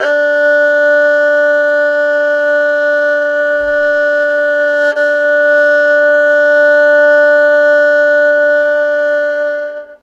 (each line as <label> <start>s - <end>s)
erhu 0.0s - 10.0s